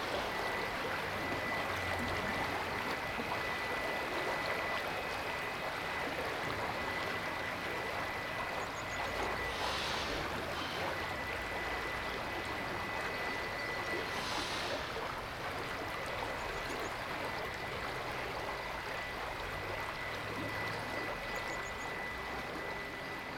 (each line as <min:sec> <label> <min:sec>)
0:00.0 river keeps flowing 0:23.3
0:08.4 bird life 0:15.2